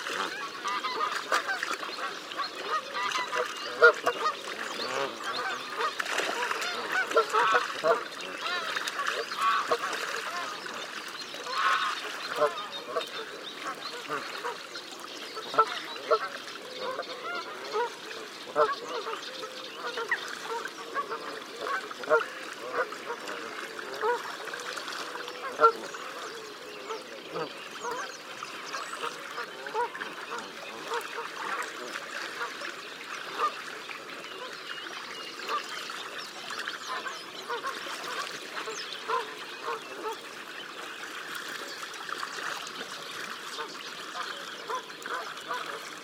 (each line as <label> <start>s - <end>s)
Canada geese with one or two greylag geese bathing 0.0s - 46.0s
mallard 0.0s - 46.0s
reed warbler 0.0s - 46.0s
Other geese can be heard in the background 0.1s - 10.7s
Other geese can be heard in the background 11.4s - 14.6s
Other geese can be heard in the background 15.4s - 24.3s
Other geese can be heard in the background 36.8s - 40.3s